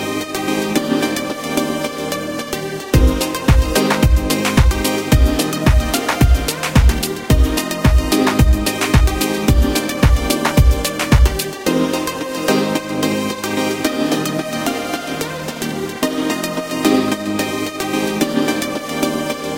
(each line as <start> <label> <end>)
2.2 Beat 13.2